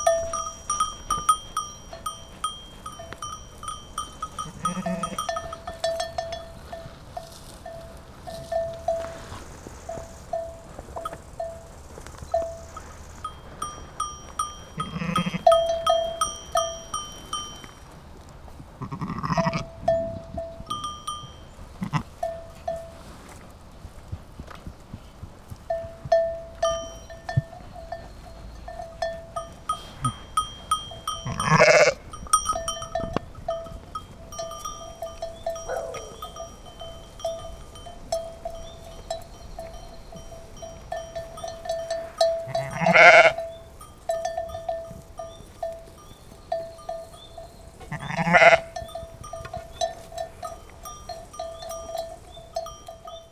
Sheep and Goats 0:00.0 - 0:53.3
animals walking near the microphone 0:00.0 - 0:53.3

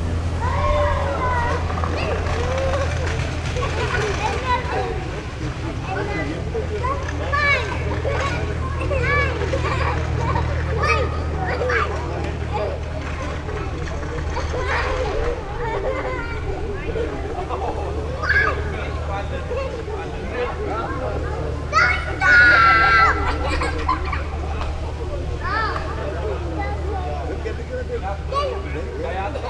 children runnining around and making noises 0:00.0 - 0:29.4

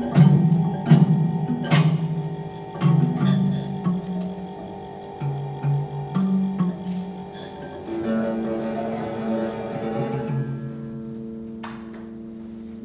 sound sculptures 0:02.6 - 0:11.2

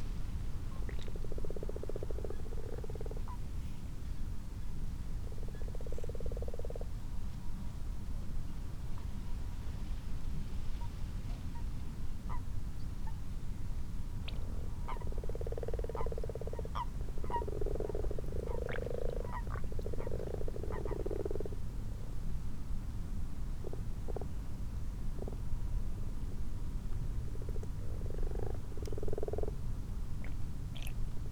common frogs and toads 0:00.7 - 0:03.4
common frogs and toads 0:05.2 - 0:07.0
common frogs and toads 0:14.2 - 0:21.7
common frogs and toads 0:23.6 - 0:24.4
common frogs and toads 0:25.1 - 0:25.5
common frogs and toads 0:27.2 - 0:31.0

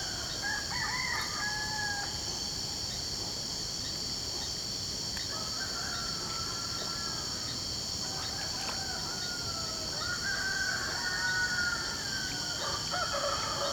crickets 0:00.0 - 0:13.7

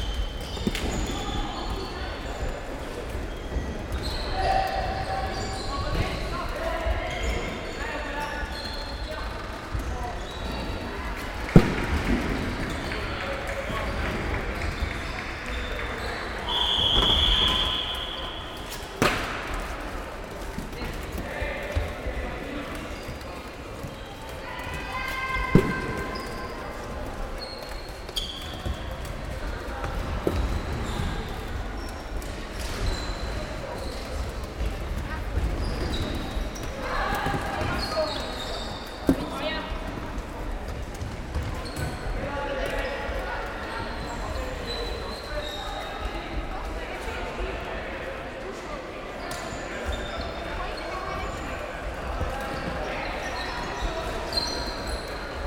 Floorball Match 0:00.0 - 0:55.4

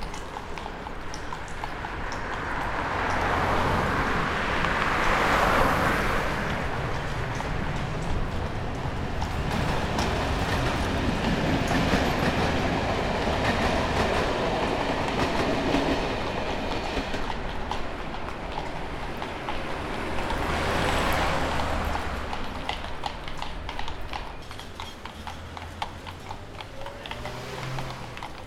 Horses inside tunnel 0:00.0 - 0:28.4
passing cars 0:00.0 - 0:28.4
train was just passing 0:00.0 - 0:28.4

